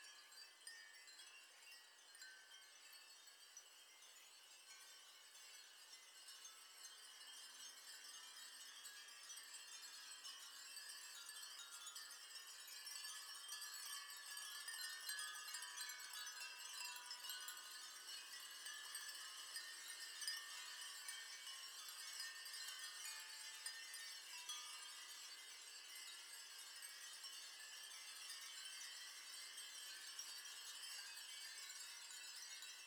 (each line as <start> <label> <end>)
0.0 3000 Glass Wind Chimes 32.8